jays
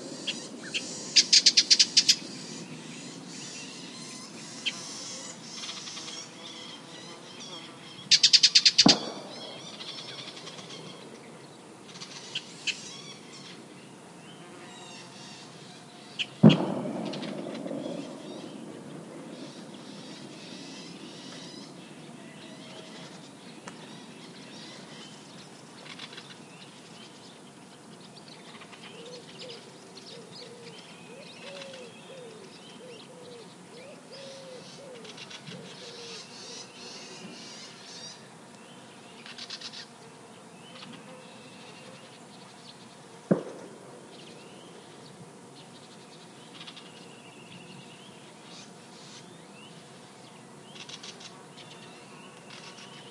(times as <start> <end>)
8.1 11.2, 16.3 21.8